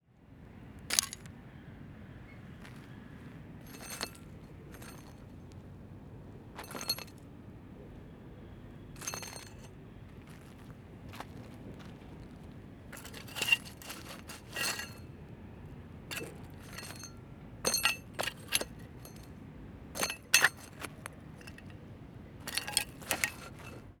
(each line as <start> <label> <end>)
2.6 Gravel Noise 5.6
3.7 Small Metallic Noises 5.2
6.6 Gravel Noise 7.2
9.0 Gravel Noise 15.1
12.9 Small Metallic Noises 15.1
16.1 Gravel Noise 19.3
16.1 Small Metallic Noises 19.3
20.0 Small Metallic Noises 21.8
20.0 Gravel Noise 21.8
22.4 Gravel Noise 24.0
22.4 Small Metallic Noises 23.9